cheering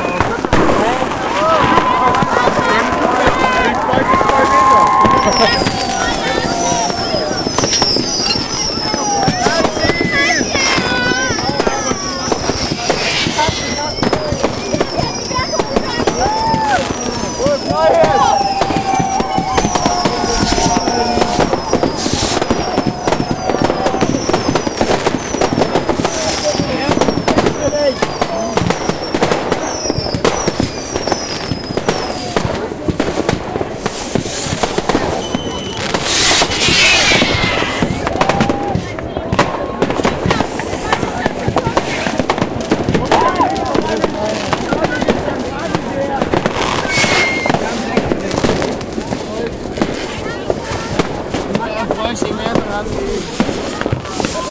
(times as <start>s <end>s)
0.0s 28.7s, 34.7s 40.4s, 42.9s 44.5s